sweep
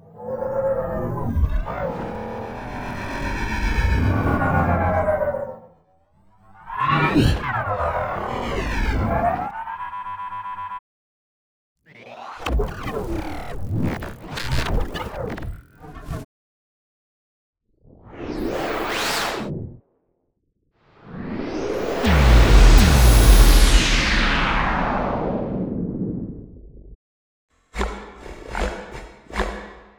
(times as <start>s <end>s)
21.1s 27.0s